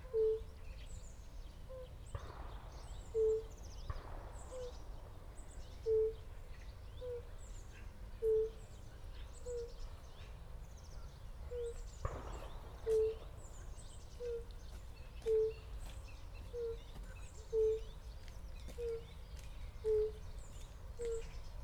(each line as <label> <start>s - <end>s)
shots all the time 2.1s - 5.8s
shots all the time 12.0s - 14.3s